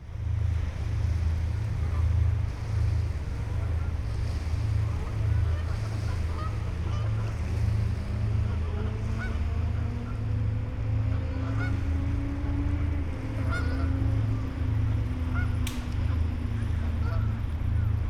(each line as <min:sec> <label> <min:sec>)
0:00.0 river Rhein 0:18.0
0:00.0 ship and traffic drone 0:18.0
0:03.4 a flock of geese 0:10.2
0:11.1 a flock of geese 0:11.9
0:13.3 a flock of geese 0:18.0